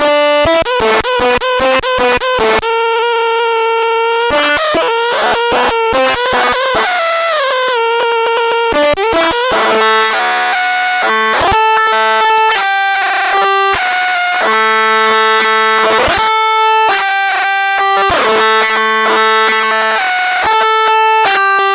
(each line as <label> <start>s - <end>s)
distorted, howling glitchy feedback 2.8s - 21.7s